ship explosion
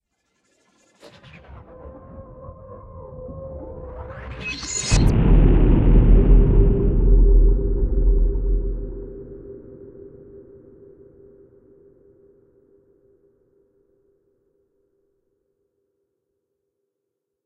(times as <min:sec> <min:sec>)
0:04.9 0:09.7